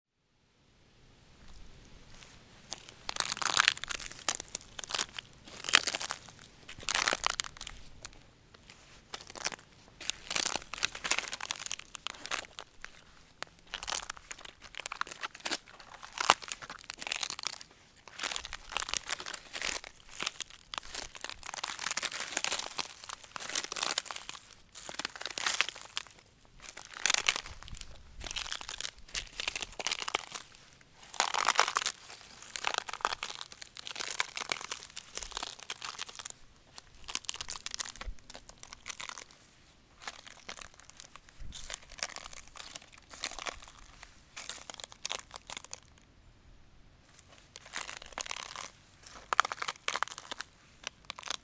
1.4s walking on it in aim to produce the cracks 46.0s
47.0s walking on it in aim to produce the cracks 51.4s

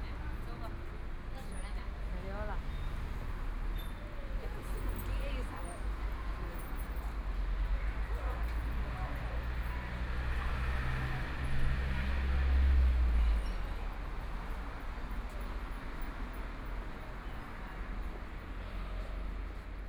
0.0s Walking on the street 19.8s

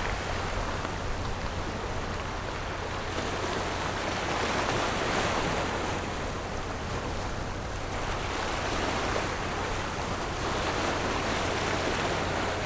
0.0s waves and Tide 12.6s

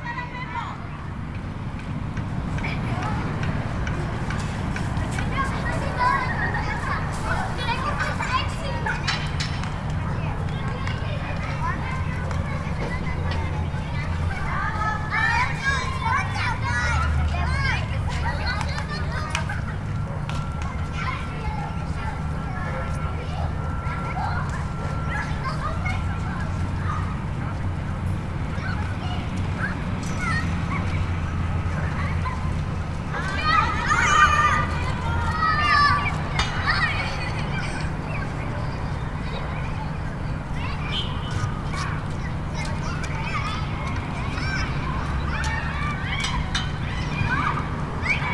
0.0s children walk by 48.3s

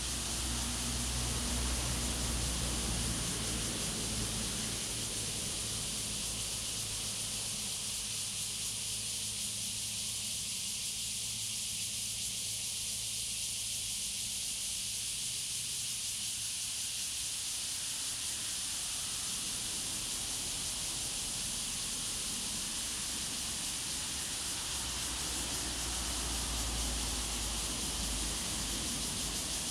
0.0s Traffic Sound 7.7s
0.0s Cicadas sound 29.7s
18.4s Traffic Sound 29.7s

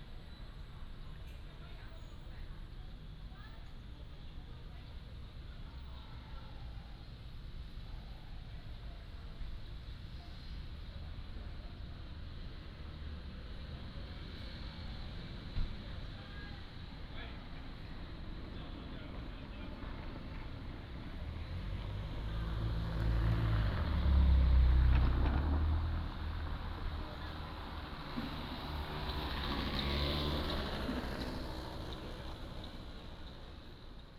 0.0s Traffic sound 34.1s
9.0s train passes through 34.1s

